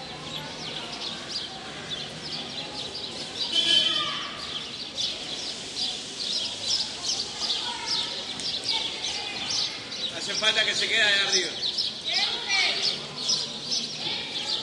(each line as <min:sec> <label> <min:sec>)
0:00.0 kids on bike 0:10.4
0:00.0 birds 0:14.6
0:11.4 kids on bike 0:14.6